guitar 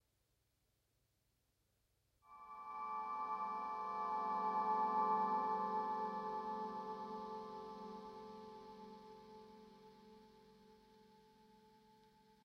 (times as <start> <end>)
2.3 11.3